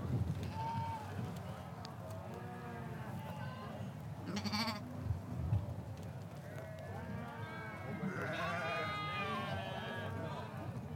wind 0.0 - 10.9
shetland sheep 4.2 - 4.9

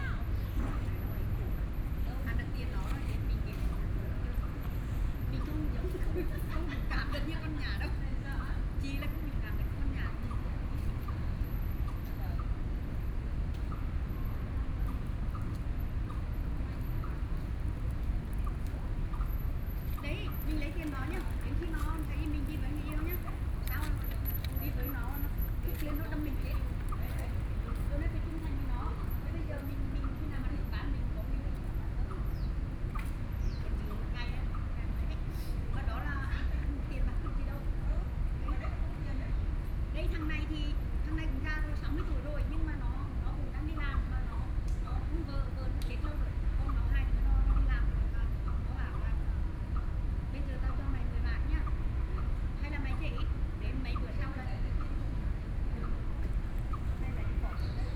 Foreign caregivers and people coming and going 0.0 - 57.9

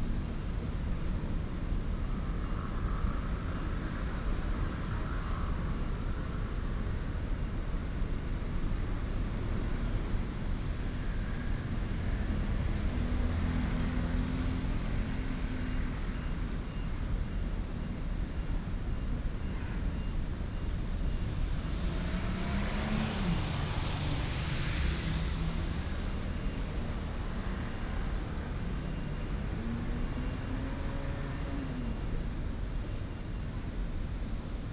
Traffic Sound 8.7 - 34.6

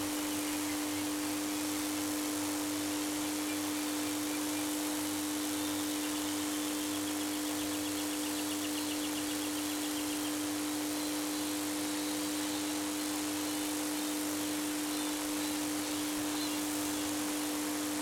Electrical station 0.0 - 8.2

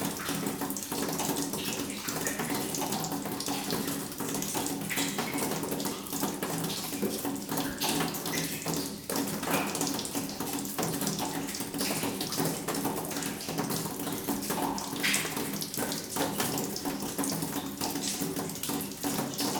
water is falling on a rotten sheet metal 0.0 - 19.5

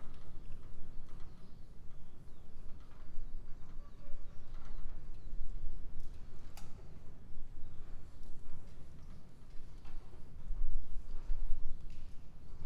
wind is roraring 0.0 - 12.6

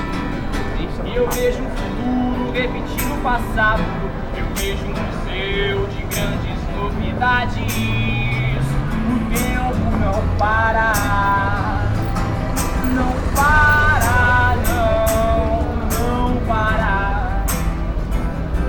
street musicians 0.0 - 18.6
vehicles 0.0 - 18.6
voices 0.0 - 18.6
wind 0.0 - 18.6

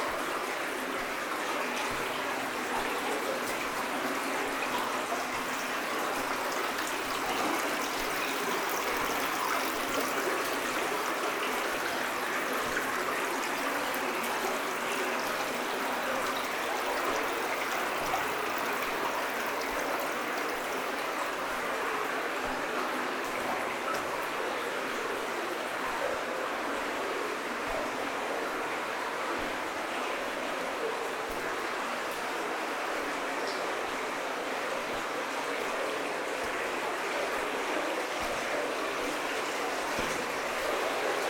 Water is going into a flooded area 0.0 - 41.2
walking in the underground iron mine 19.8 - 33.2
walking in the underground iron mine 33.8 - 41.2

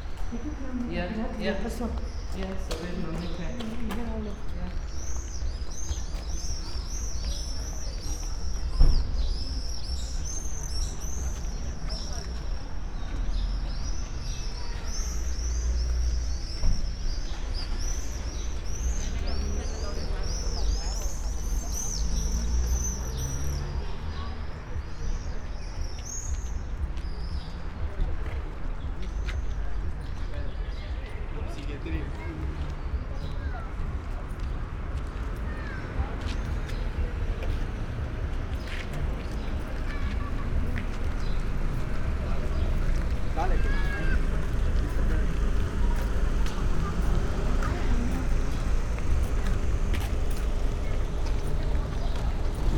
steps 0.0 - 13.3
steps 26.2 - 52.7

